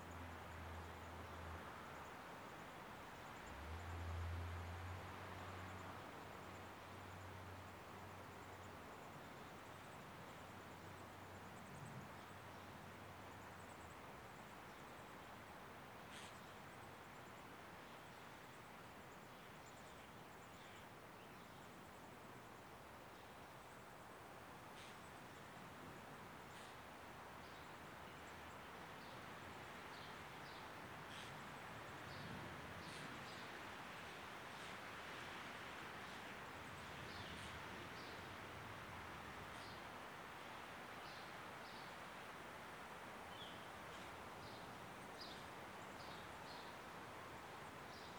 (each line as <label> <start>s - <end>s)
wind high in the trees 0.0s - 48.1s